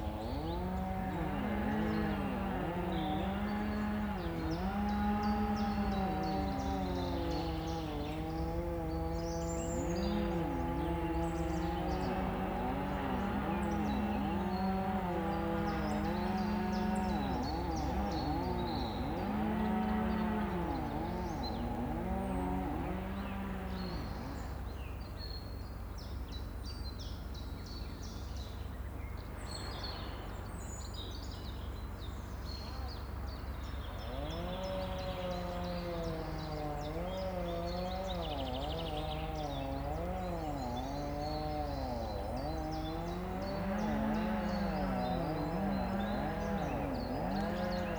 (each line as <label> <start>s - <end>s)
song thrush 0.0s - 26.2s
Chain saws reverberate amongst trees 0.0s - 47.9s
song thrush 26.9s - 47.9s